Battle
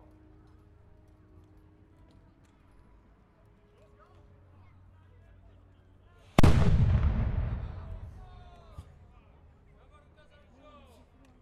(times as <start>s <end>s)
6.4s 8.9s